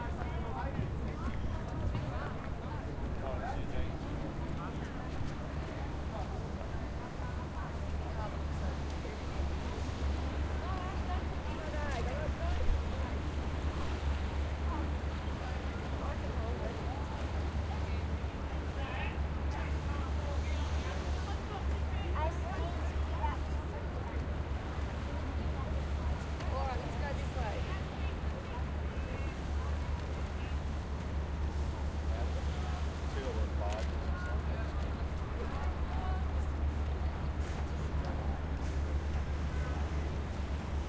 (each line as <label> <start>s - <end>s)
People/Tourist walking on the embankment 0.0s - 40.8s